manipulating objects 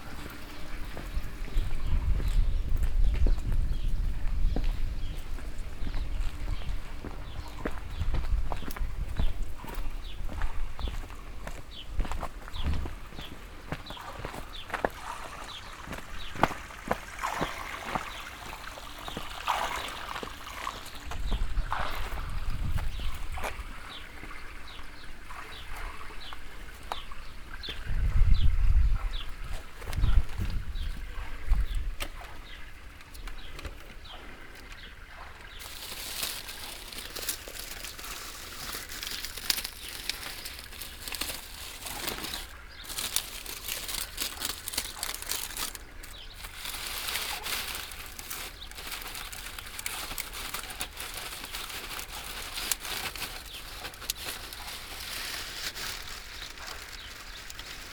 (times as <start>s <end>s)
35.6s 57.8s